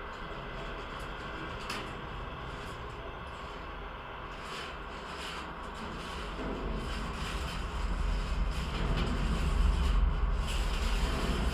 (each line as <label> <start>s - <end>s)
traffic resonate throughout the fence 0.0s - 11.5s